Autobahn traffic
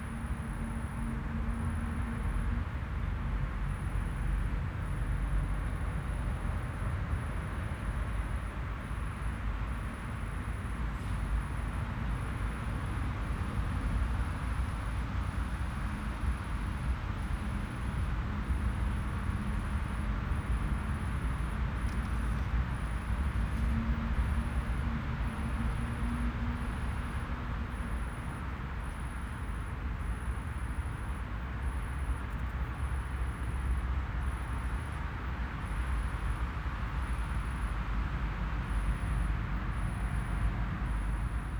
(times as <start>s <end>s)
9.8s 41.5s